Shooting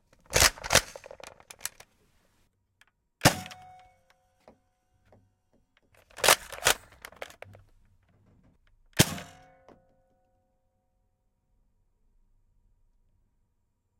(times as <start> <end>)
6.0 7.4